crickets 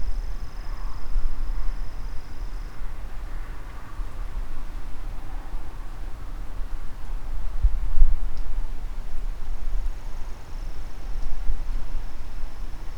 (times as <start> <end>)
0.0 5.9, 9.4 12.9